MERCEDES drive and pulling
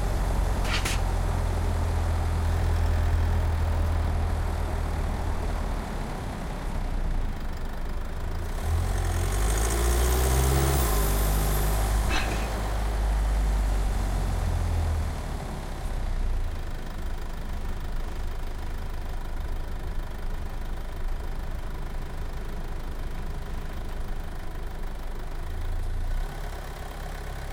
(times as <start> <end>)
0.4 1.5, 11.7 13.3